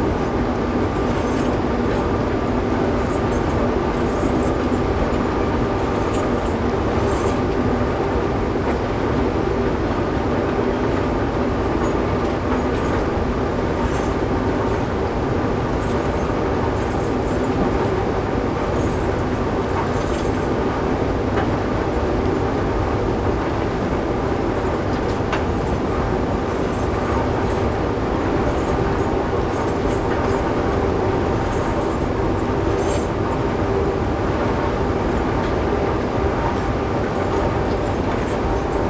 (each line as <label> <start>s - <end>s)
Giant excavator at work 0.0s - 38.8s
conveyer belts 0.0s - 38.8s